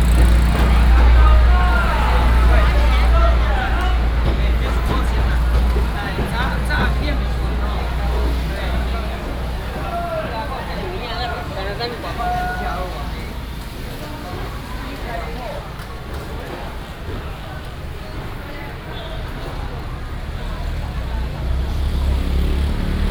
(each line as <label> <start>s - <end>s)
Very noisy traditional market 0.0s - 23.1s
traffic sound 0.0s - 23.1s
vendors peddling 0.0s - 23.1s